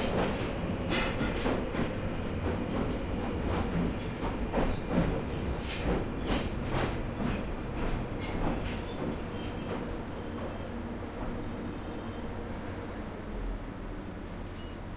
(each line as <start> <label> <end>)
0.0 tube (London Underground) journey 14.9